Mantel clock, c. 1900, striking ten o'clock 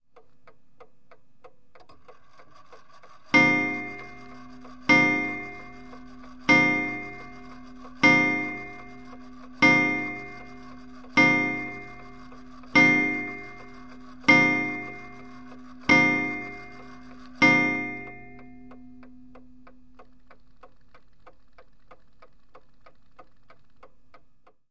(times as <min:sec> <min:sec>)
0:02.1 0:20.8